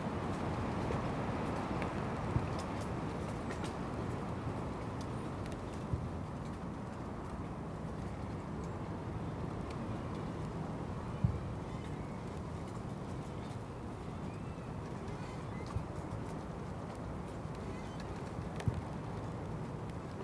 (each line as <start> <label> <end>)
0.0 Sleet driven on the wind 20.2